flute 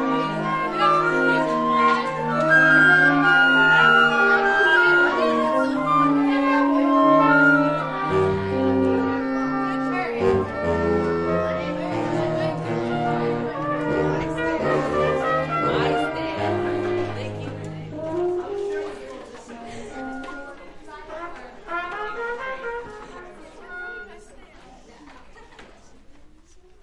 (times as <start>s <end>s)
0.0s 17.3s, 17.9s 20.5s